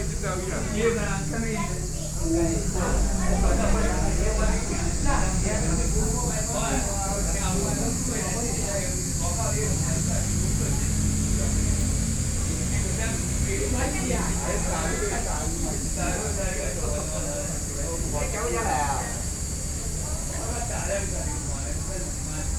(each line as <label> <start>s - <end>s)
Traffic Sound 0.0s - 20.1s
Cicadas sound 0.0s - 22.5s
group of elderly people chatting 0.0s - 22.5s